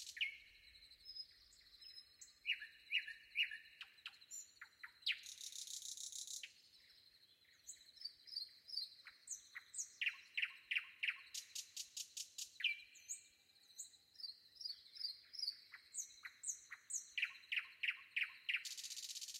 distinct rustle of foliage 0:00.0 - 0:00.6
choirs of crickets 0:00.0 - 0:19.3
predawn nightingale 0:00.0 - 0:19.3

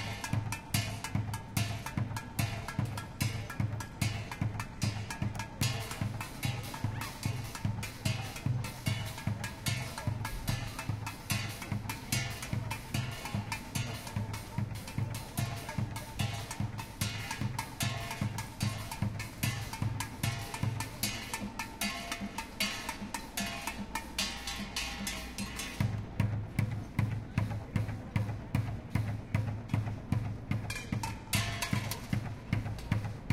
Street drummer 0:00.0 - 0:33.3
people 0:00.0 - 0:33.3

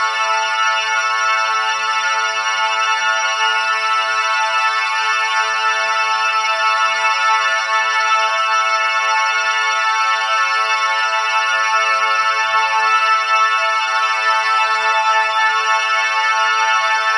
drone 0:09.2 - 0:17.1

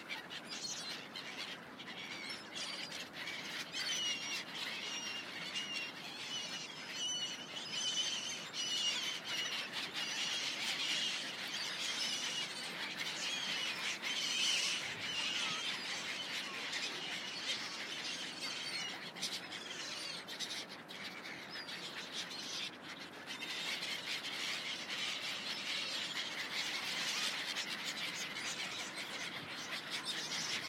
birds 0:00.0 - 0:30.6
ducks 0:00.0 - 0:30.6
river 0:00.0 - 0:30.6

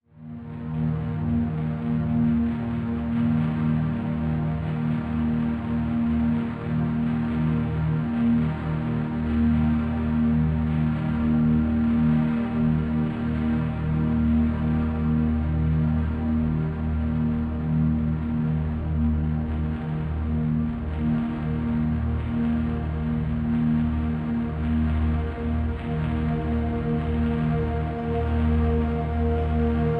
evolving drone sound 0:21.4 - 0:29.9

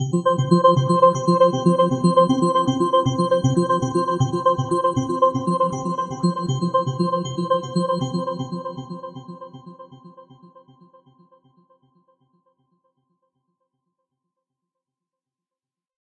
synth arpeggio 0:00.0 - 0:09.2

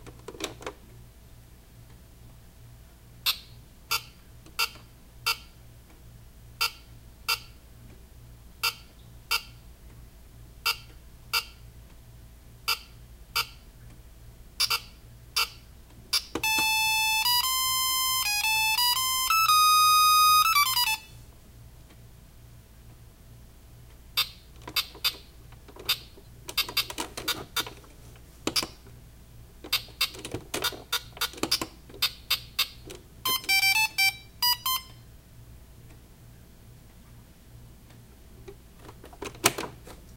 Old electronic game 0:16.4 - 0:21.0
Old electronic game 0:24.6 - 0:28.9
Old electronic game 0:29.6 - 0:34.8

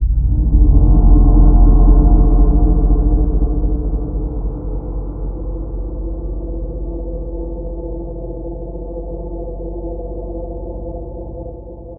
reverbed synth hit 0:00.0 - 0:06.4

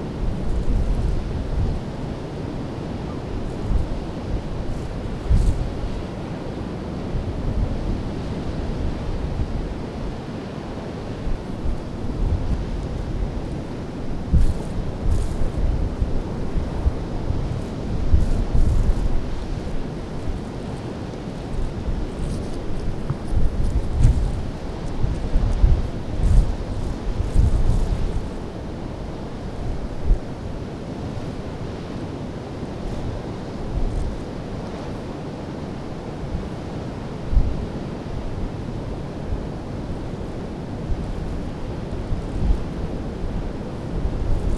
sea far below 0:00.0 - 0:44.5
wind 0:00.0 - 0:44.5

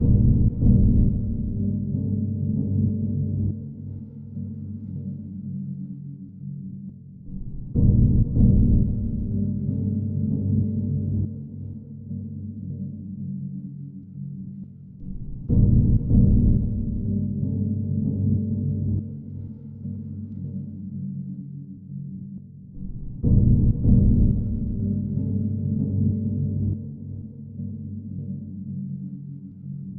Drum 0:00.0 - 0:02.0
Drum 0:07.3 - 0:09.8
Drum 0:15.0 - 0:17.5
Drum 0:22.8 - 0:26.8

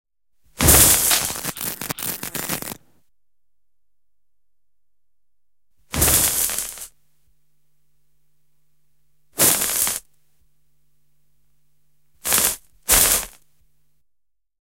Electrical, short crackling, cracking, hissing sounds 0:00.6 - 0:02.9
Electrical, short crackling, cracking, hissing sounds 0:05.9 - 0:07.0
Electrical, short crackling, cracking, hissing sounds 0:09.4 - 0:10.2
Electrical, short crackling, cracking, hissing sounds 0:12.2 - 0:13.6

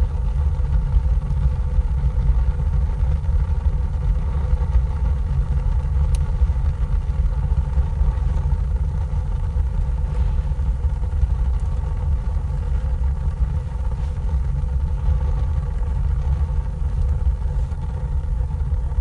masonry heater burning with the ventilation open 0:00.0 - 0:19.0

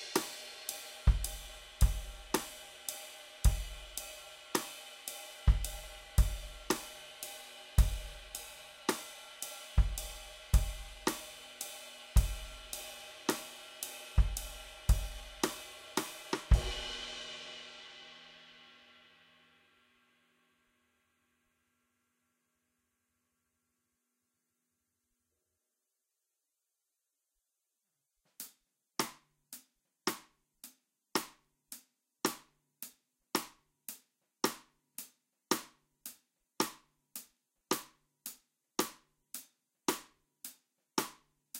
Ballad drum beat 0:00.0 - 0:18.0

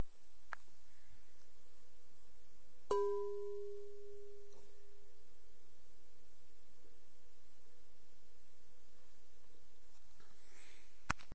Striking glass bowl with the tip of the finger 0:02.9 - 0:04.8

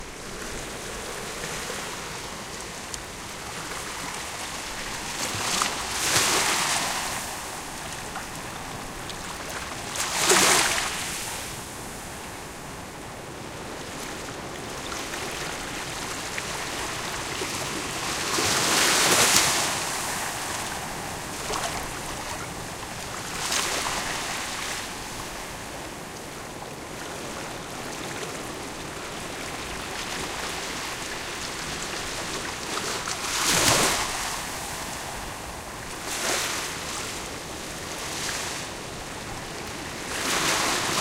waves coming to the beach 0:00.0 - 0:41.0

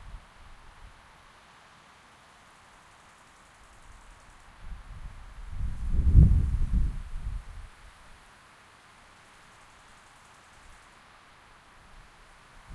wind in the autumn forest 0:00.0 - 0:12.7

